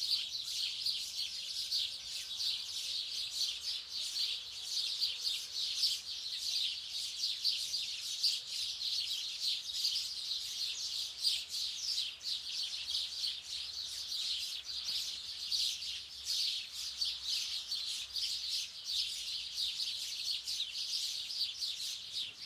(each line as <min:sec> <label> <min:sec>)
0:00.0 Birds singing 0:22.4